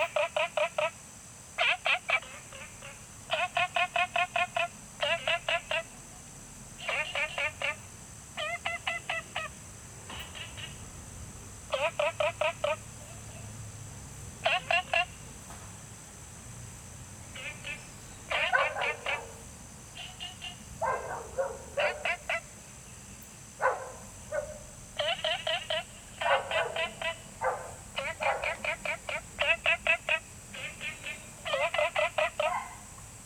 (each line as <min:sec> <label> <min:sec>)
0:00.0 Frogs chirping 0:33.2
0:00.0 Insect sounds 0:33.2
0:18.3 Dogs barking 0:19.5
0:20.8 Dogs barking 0:22.5
0:23.6 Dogs barking 0:29.2
0:31.5 Dogs barking 0:33.0